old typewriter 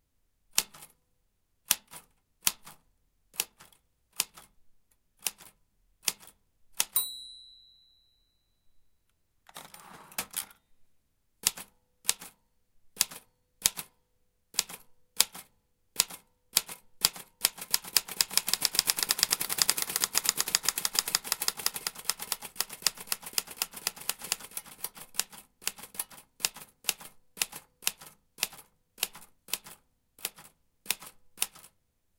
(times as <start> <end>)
5.2 7.0, 11.4 12.4, 13.0 13.9, 14.6 31.8